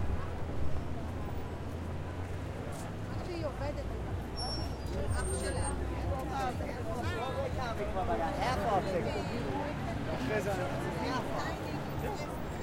crowd 0:00.0 - 0:12.6
traffic 0:00.0 - 0:12.6
walk 0:01.7 - 0:03.4

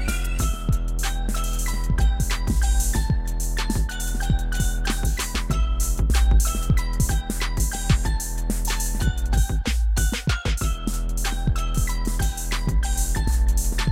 beats 0:00.0 - 0:13.9
flutey-loops 0:00.0 - 0:13.9

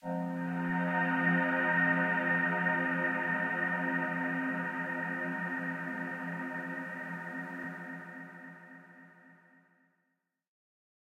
Glowing Pad 0:00.0 - 0:09.0

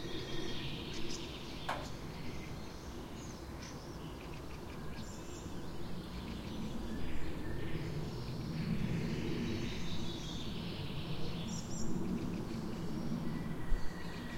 distant train pass-by 0:00.0 - 0:03.6
airplane pass-by 0:00.0 - 0:14.3
birds 0:00.0 - 0:14.3
wind 0:00.0 - 0:14.3

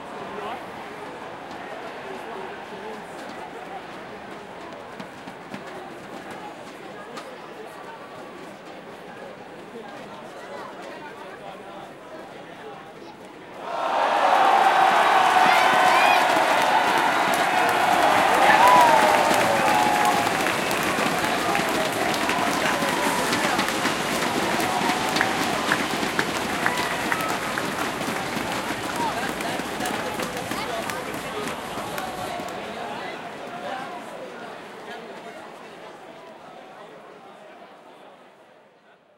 mexican wave goes around 0:13.6 - 0:32.9

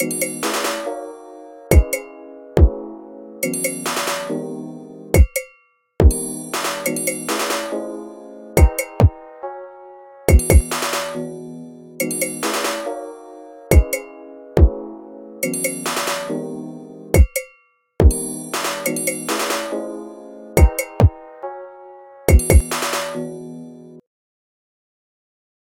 metallic percussion loop 0:00.0 - 0:00.9
metallic percussion loop 0:01.7 - 0:02.1
metallic percussion loop 0:03.4 - 0:04.4
metallic percussion loop 0:05.2 - 0:07.8
chord progression in C major on piano 0:07.8 - 0:10.3
metallic percussion loop 0:08.6 - 0:09.2
metallic percussion loop 0:10.3 - 0:11.2
metallic percussion loop 0:12.0 - 0:12.9
metallic percussion loop 0:13.7 - 0:14.1
metallic percussion loop 0:15.4 - 0:16.4
metallic percussion loop 0:17.2 - 0:19.8
metallic percussion loop 0:20.6 - 0:21.2
metallic percussion loop 0:22.3 - 0:23.2

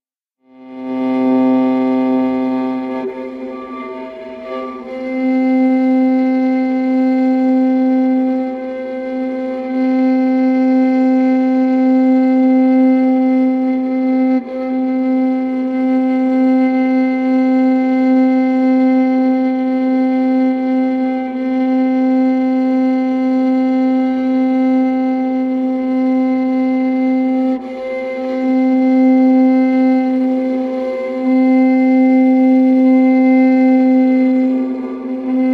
Viola C drone long 0:00.4 - 0:35.5

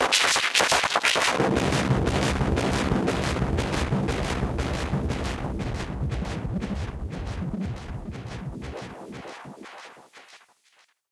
Analog Sandstorm 0:01.3 - 0:09.3

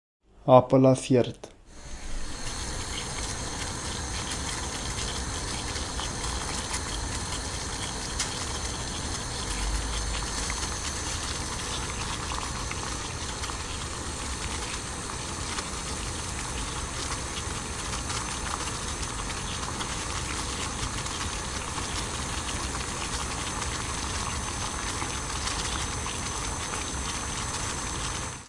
boiling water on stove 0:01.7 - 0:28.4

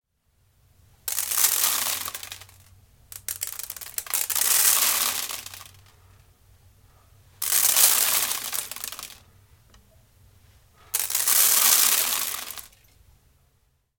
rice grains poured on a standard bowl 0:01.1 - 0:05.9
rice grains poured on a standard bowl 0:07.4 - 0:09.3
rice grains poured on a standard bowl 0:10.8 - 0:12.9

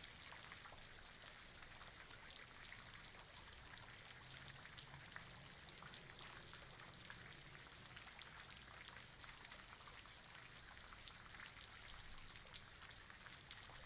Rain 0:00.0 - 0:13.8

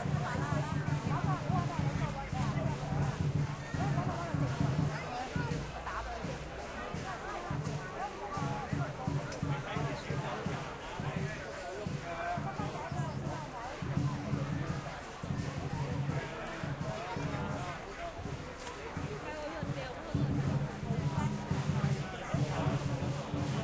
drummers following the dragon dancing 0:00.0 - 0:23.6
many people passing by while talking and chatting 0:00.0 - 0:23.6

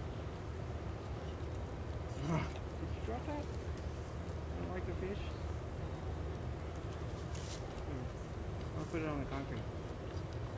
tiger 0:02.1 - 0:02.7

